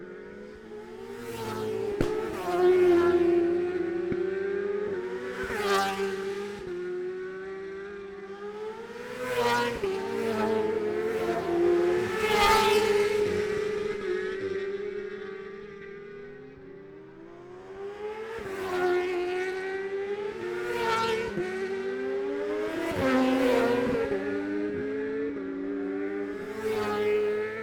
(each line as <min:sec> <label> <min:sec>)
0:00.0 road racing 0:27.6